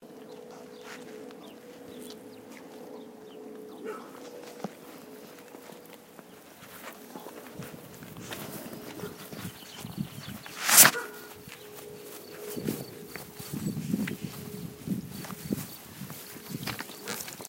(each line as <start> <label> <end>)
0.1 bird 17.4
3.7 dog 4.3
8.9 dog 9.3
10.8 dog 11.4